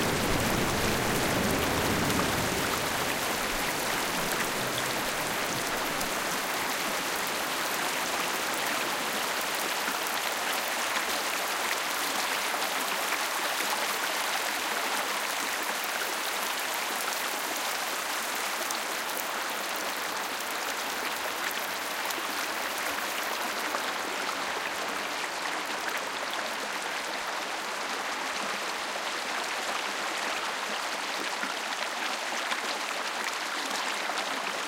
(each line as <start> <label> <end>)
0.0 floating water stream 34.6